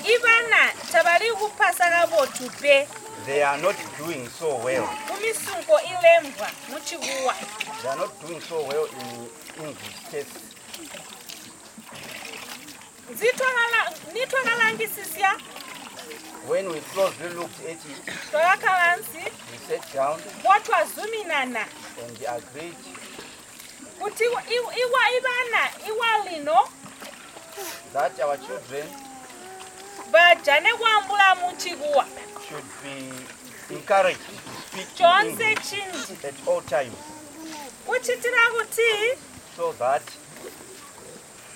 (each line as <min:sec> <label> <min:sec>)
0:00.0 splashing water on the ground 0:41.5